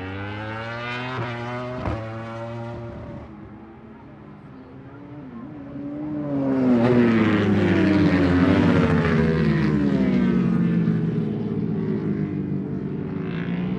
Motorcycle Grand Prix 0:00.0 - 0:13.7

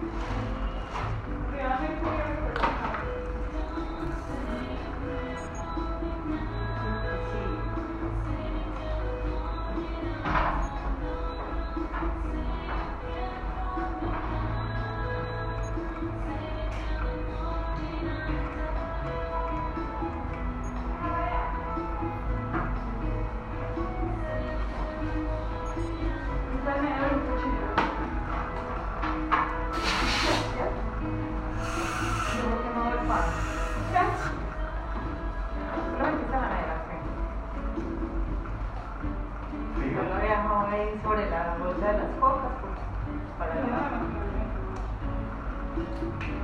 música de ambiente 0:00.0 - 0:46.4
intervención odontólogo 0:29.7 - 0:34.8
Utensilio dental 0:29.7 - 0:30.6
Agua fluyendo 0:29.7 - 0:30.8
Agua fluyendo 0:31.4 - 0:34.7
Utensilio dental 0:31.5 - 0:34.5

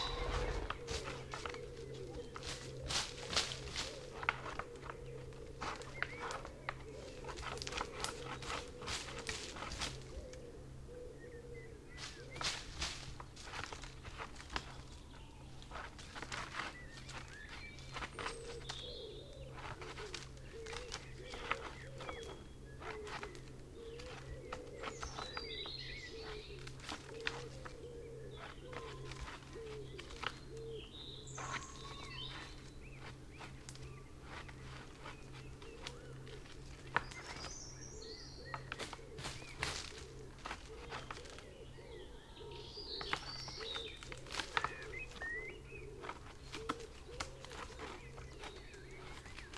buzzard 0:00.0 - 0:01.0
something walks through 0:00.0 - 0:01.2
robin 0:00.0 - 0:01.3
wren 0:00.0 - 0:01.6
tawny owl 0:00.0 - 0:02.4
song thrush 0:00.0 - 0:02.7
red-legged partridge 0:00.0 - 0:13.0
blackbird 0:00.0 - 0:13.2
pheasant 0:00.0 - 0:49.5
wood pigeon 0:00.0 - 0:49.5
red-legged partridge 0:14.1 - 0:49.5
blackbird 0:14.2 - 0:49.5
song thrush 0:16.4 - 0:49.5

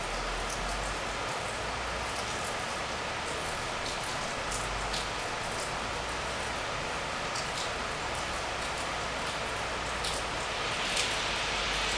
water is falling on the ground 0:00.0 - 0:11.9

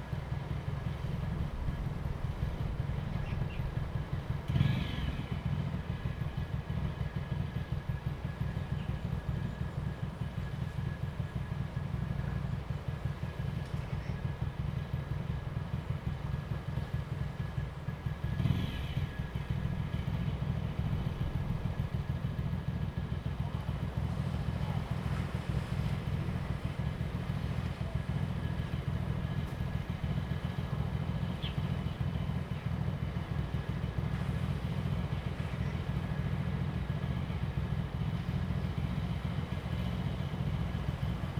traffic sound 0:00.0 - 0:41.3
waves 0:23.6 - 0:28.8
Birds sound 0:31.1 - 0:32.7

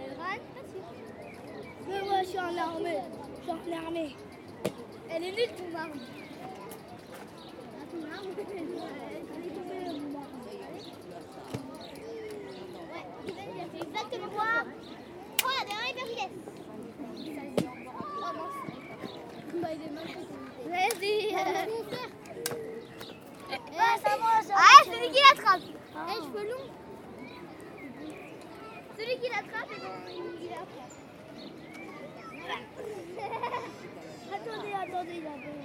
Kids playing with a toy gun 0:11.4 - 0:16.6
Kids playing with a toy gun 0:17.5 - 0:26.7

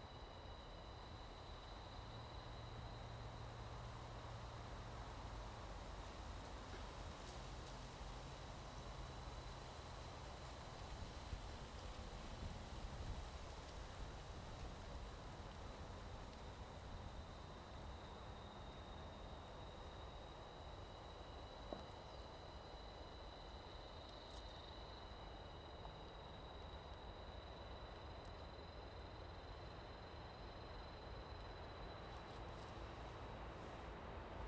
wind 0:00.0 - 0:34.4

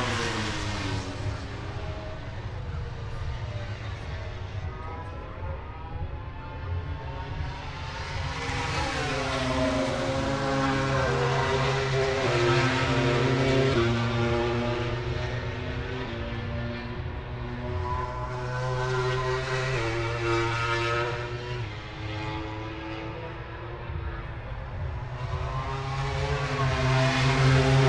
motorcycle grand prix 0:00.0 - 0:27.8

